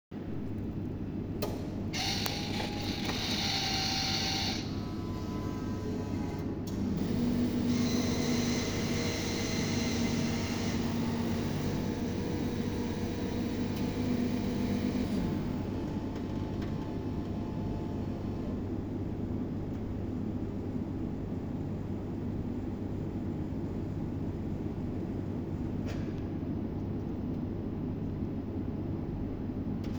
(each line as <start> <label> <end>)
1.4 cofe machine 20.7